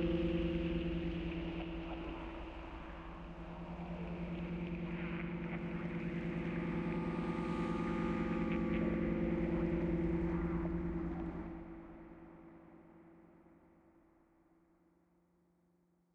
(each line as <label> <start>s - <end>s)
drone 0.0s - 11.7s